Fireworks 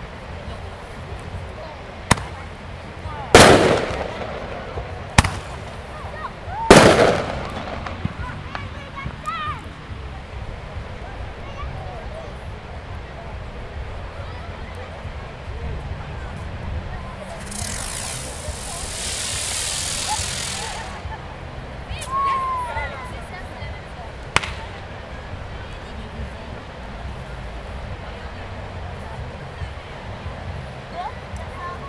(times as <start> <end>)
2.1 2.4, 3.3 6.0, 6.6 8.8, 17.3 21.1, 24.4 24.7